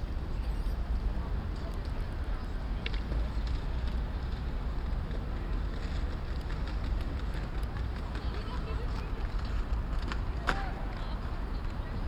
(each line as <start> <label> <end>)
1.5 skateboard 12.0
1.6 skates 12.0